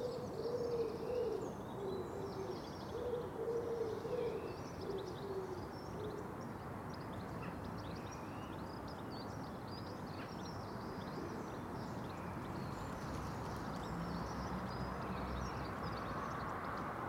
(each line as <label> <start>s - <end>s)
chill wind gusts 0.0s - 17.0s